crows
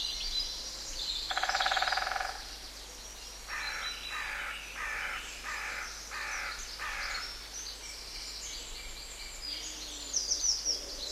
1.3 2.4, 3.5 7.4

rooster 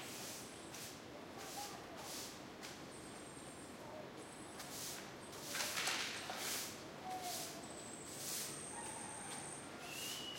8.7 10.3

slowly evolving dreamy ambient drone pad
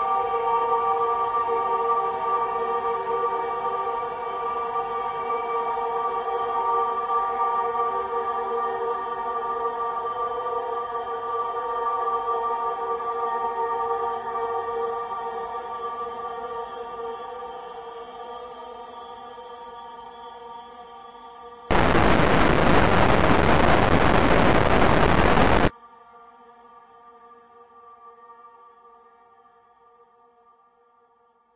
21.7 25.7

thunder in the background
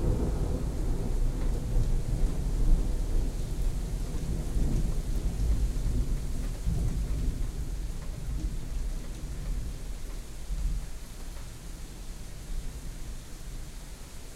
0.0 7.8

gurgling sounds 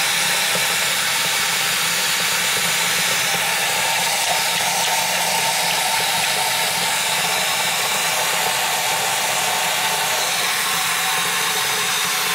3.4 10.6

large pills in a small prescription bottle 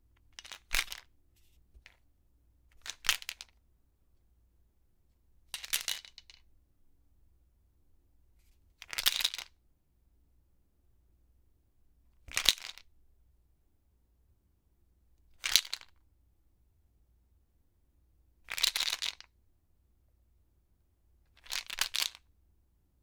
0.3 1.1, 2.7 3.6, 5.5 6.4, 8.8 9.6, 12.3 12.9, 18.4 19.3, 21.3 22.3

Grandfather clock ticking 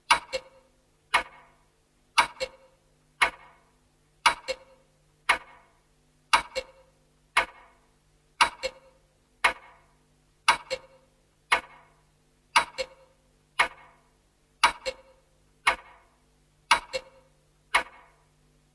0.1 1.5, 2.2 3.6, 4.2 5.6, 6.3 7.8, 8.4 11.9, 12.6 14.0, 14.6 16.0, 16.7 18.2

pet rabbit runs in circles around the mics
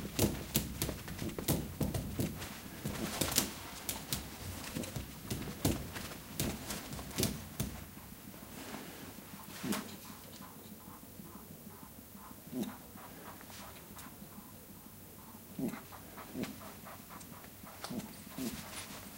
0.0 10.2, 16.0 19.1

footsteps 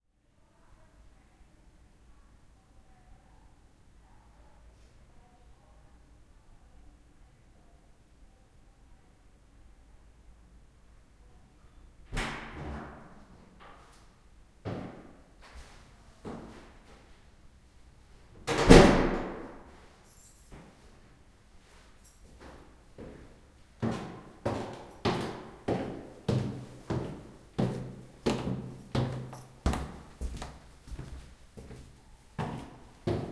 23.8 33.3

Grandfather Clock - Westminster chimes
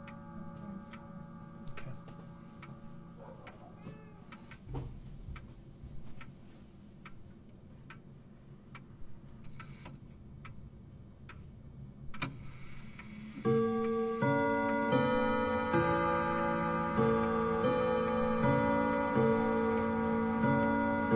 0.0 3.4, 13.5 21.1

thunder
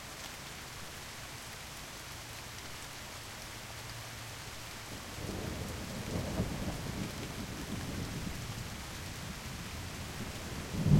10.6 10.9

